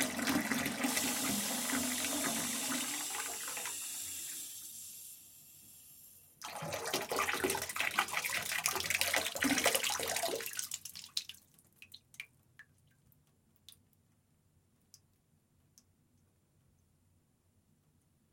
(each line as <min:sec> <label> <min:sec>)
0:00.0 pouring water into the bath 0:05.1
0:00.0 Open first water tap 0:06.6
0:00.0 close second water tap 0:11.3
0:00.0 residual water leaving the water tap 0:12.2
0:06.4 pouring water into the bath 0:12.1